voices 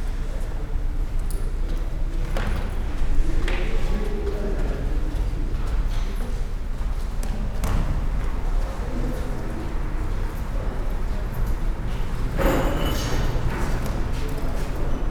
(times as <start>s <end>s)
7.4s 15.1s